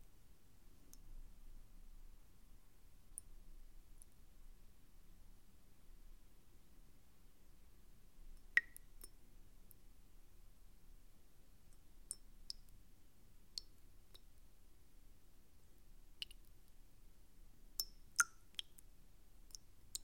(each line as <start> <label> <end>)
8.4 water drops in a bowl 9.2
16.2 water drops in a bowl 16.4
17.8 water drops in a bowl 18.8